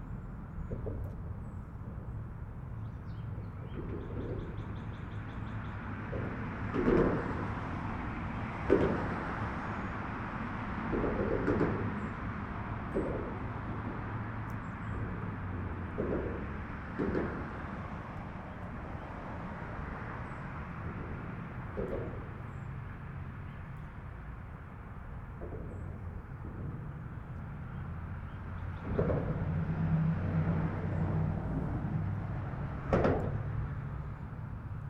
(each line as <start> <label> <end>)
0.0 cars pass overhead 34.8